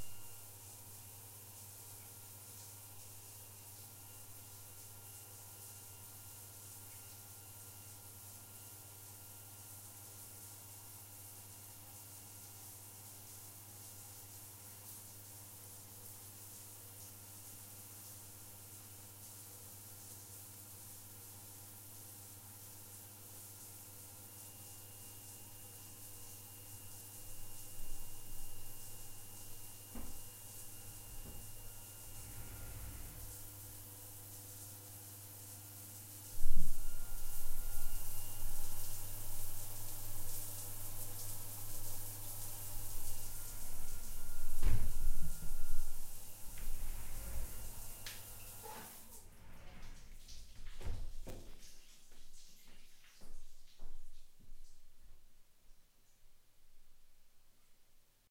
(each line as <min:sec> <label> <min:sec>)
0:25.4 running water 0:55.3